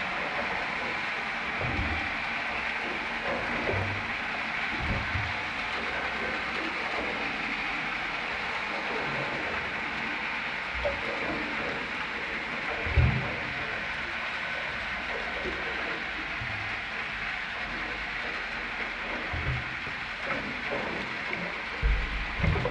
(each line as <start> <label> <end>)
0.0 Water slopping against the pier 22.7
0.0 sound of the boats only underwater 22.7